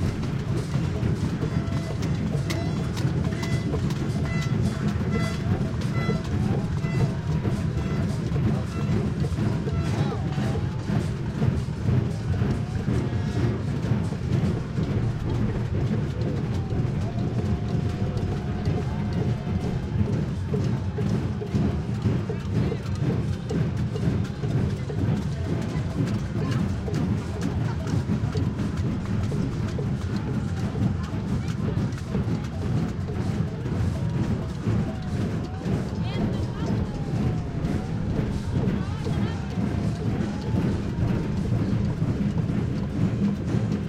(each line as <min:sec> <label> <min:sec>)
0:00.0 chanting 0:43.8